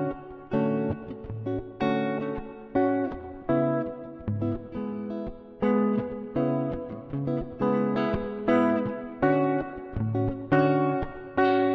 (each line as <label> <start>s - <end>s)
electric guitar 0.0s - 11.7s